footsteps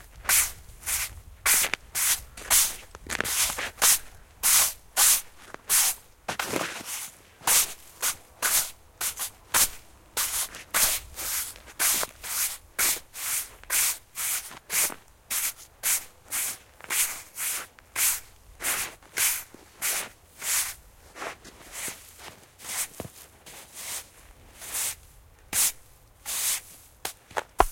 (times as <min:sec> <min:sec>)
0:27.0 0:27.7